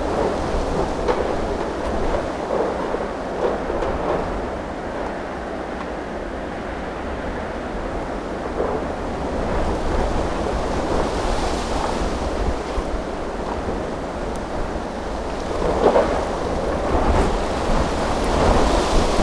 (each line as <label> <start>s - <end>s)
very powerful wind, getting around a huge auvent 0.0s - 19.2s